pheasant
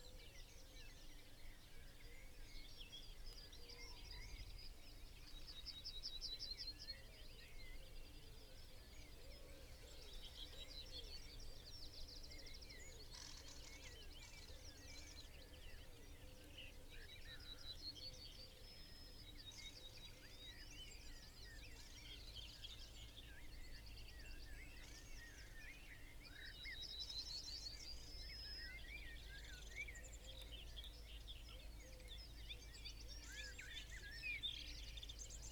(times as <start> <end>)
7.5 35.5